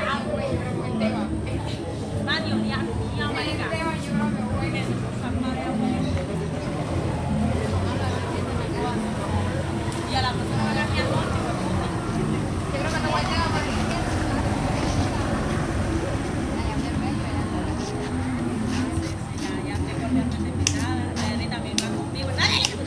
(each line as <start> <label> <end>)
0.0 Mujeres y balón 22.8
0.0 adolescentes se prepara para jugar fútbol 22.8